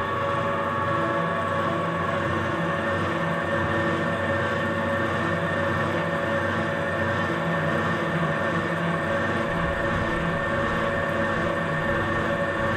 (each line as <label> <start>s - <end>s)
water pump at a mobile concrete factory 0.0s - 12.7s